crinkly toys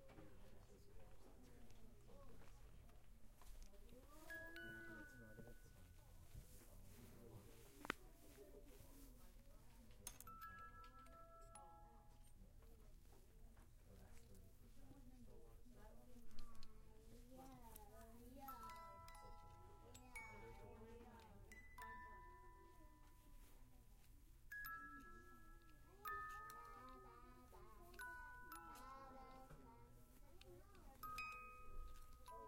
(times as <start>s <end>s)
15.8s 32.4s